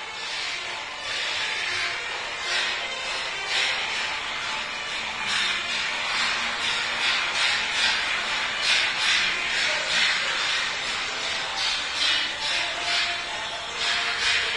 workers 0.0 - 14.5

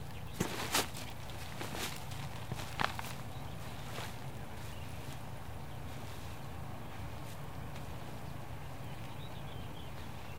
birds 0.0 - 10.3
hum of far city 0.0 - 10.3
steps of one person 0.2 - 5.3

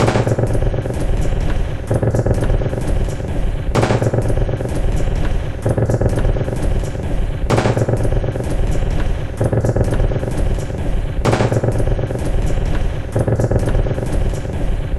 Drum 0.0 - 14.9

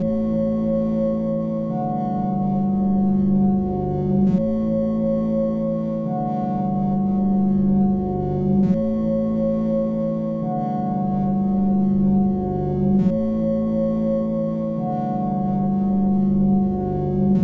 notes played on a Nord Modular 0.0 - 17.4

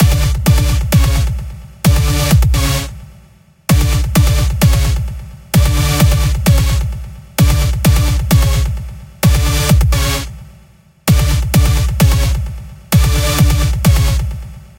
music 0.0 - 14.7

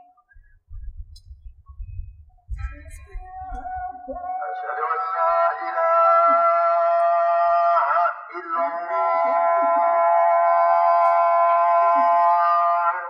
Call to Prayer 1.7 - 13.0

